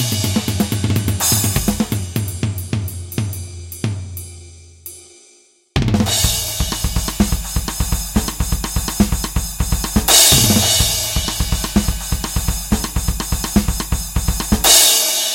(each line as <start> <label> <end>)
0.0 drum solo 4.4
5.8 drum solo 15.3